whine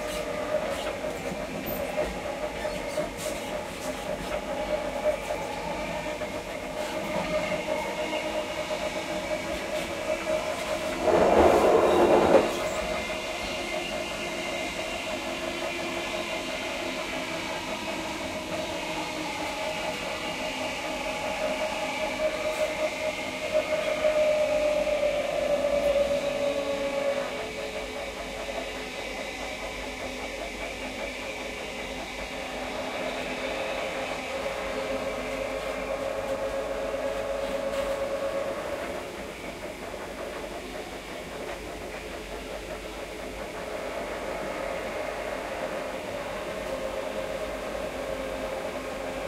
4.9 15.3

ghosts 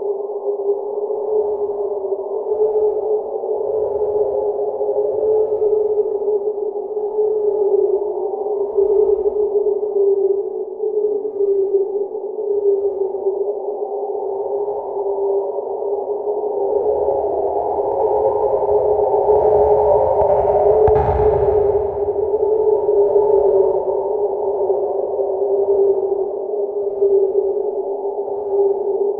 14.8 29.1

